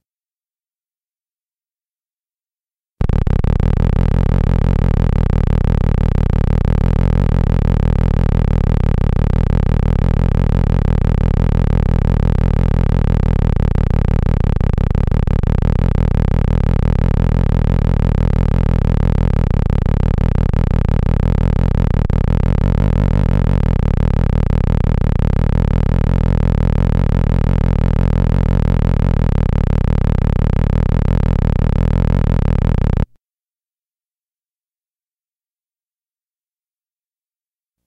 3.0s steady oscillation using the lowest end of the theremin 33.1s

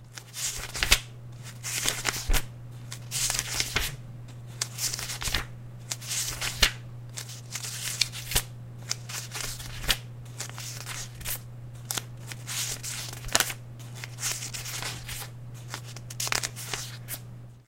0.0s Turning the pages of a book 17.3s

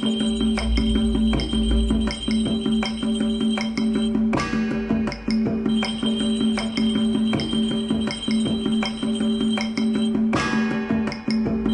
0.0s bells 4.6s
5.2s bells 11.7s

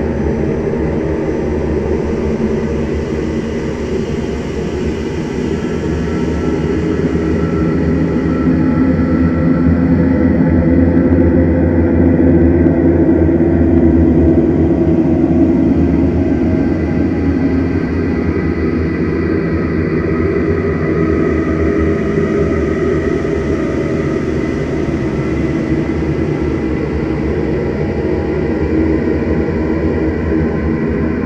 0.0s drone 31.2s

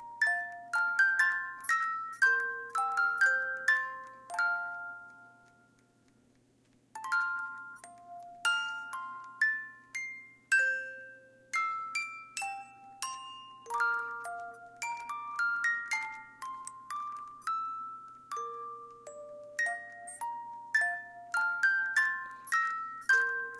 0.0s Small music box 23.5s

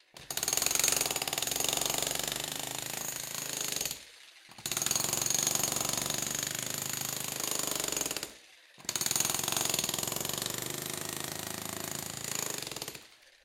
0.2s jackhammer indoors to break concrete 13.3s

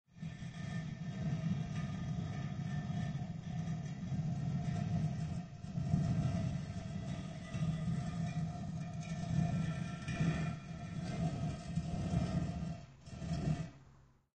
0.1s heavy stone door slowly slides open 13.8s

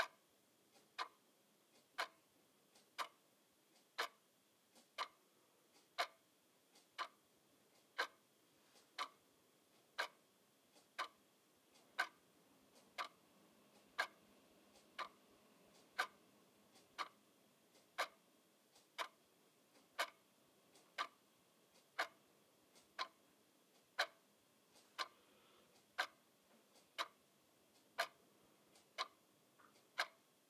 0.0s wall clock ticking 30.4s

